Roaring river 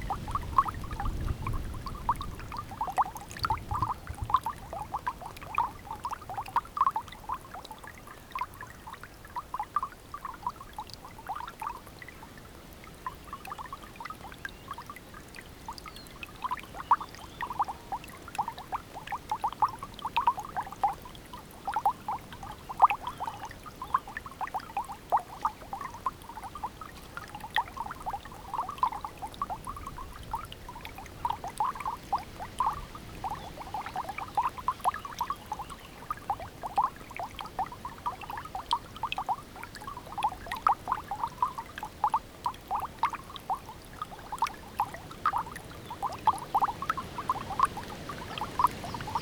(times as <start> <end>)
44.6 49.2